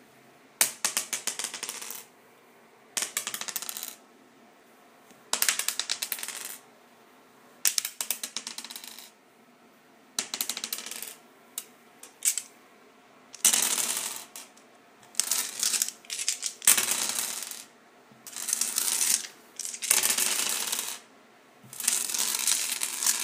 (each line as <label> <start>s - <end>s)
various dice rolling on a tile surface 0.6s - 2.1s
various dice rolling on a tile surface 3.0s - 4.0s
various dice rolling on a tile surface 5.3s - 6.6s
various dice rolling on a tile surface 7.7s - 9.2s
various dice rolling on a tile surface 10.2s - 12.5s
various dice rolling on a tile surface 13.4s - 23.2s